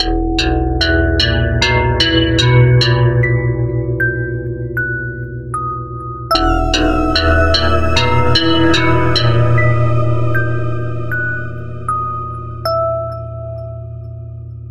5.7s bell 14.5s

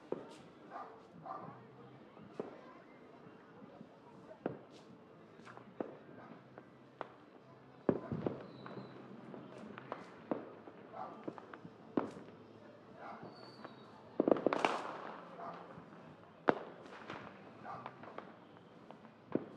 0.0s FIREWORKS 19.5s

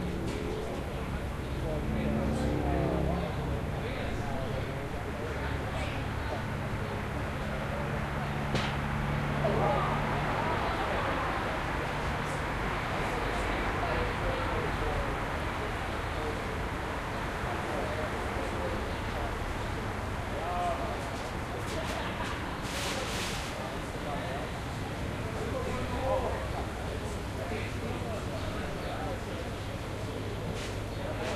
0.0s motorcycles 13.6s
0.0s trucks 31.3s

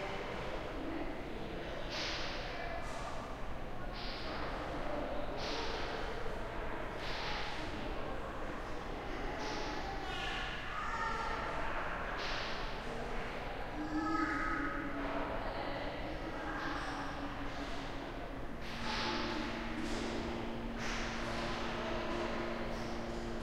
0.0s chatter 23.4s

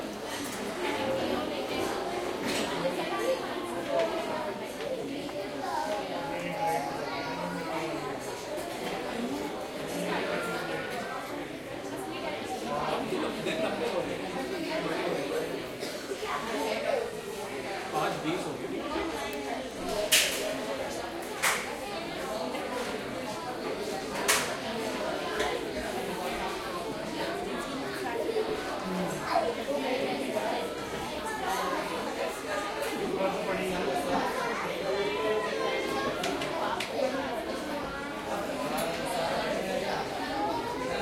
0.0s crowd 41.0s

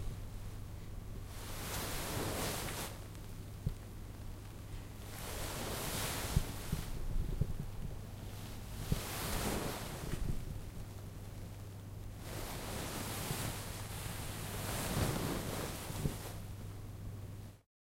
1.3s Sitting down in a chair in a satin dress 3.0s
8.4s Sitting down in a chair in a satin dress 10.6s
12.2s Sitting down in a chair in a satin dress 16.5s

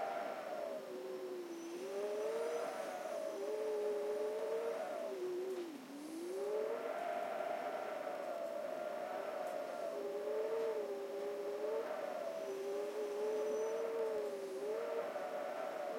0.0s wind whistling through a crack in the window 15.9s

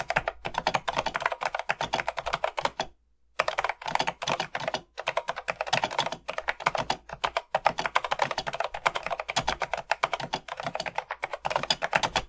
0.0s typing 12.2s

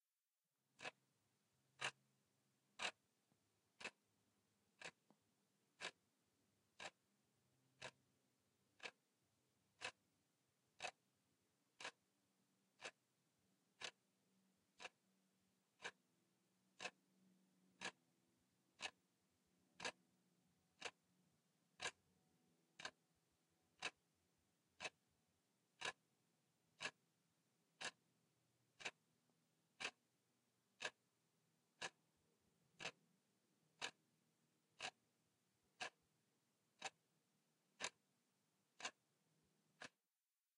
0.8s clock tick 1.1s
1.7s clock tick 2.1s
2.7s clock tick 40.0s

